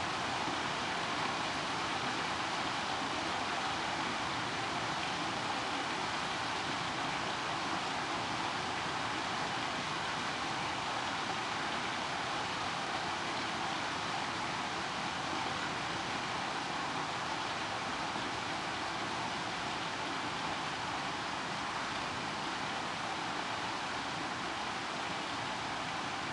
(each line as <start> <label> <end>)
0.0 Rain 26.3